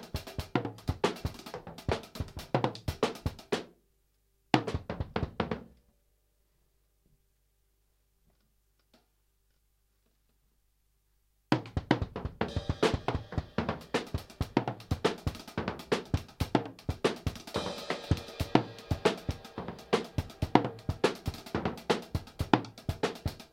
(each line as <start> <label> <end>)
0.0 drum 3.7
4.6 drum 5.7
11.5 drum 23.5